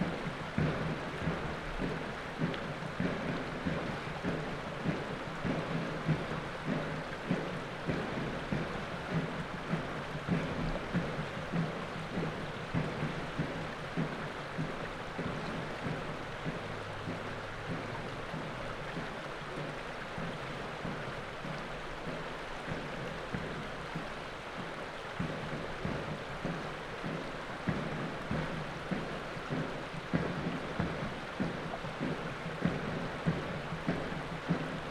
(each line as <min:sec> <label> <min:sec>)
0:00.0 drums 0:34.9
0:00.0 river 0:34.9